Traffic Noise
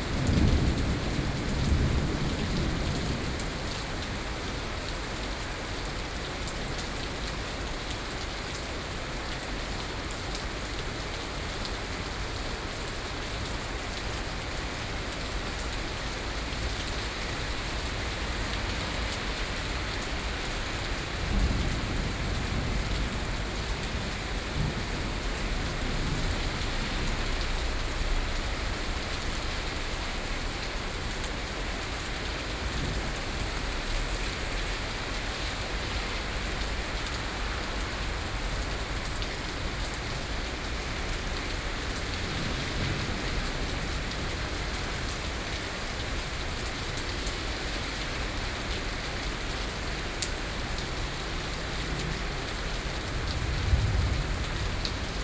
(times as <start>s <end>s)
15.0s 55.2s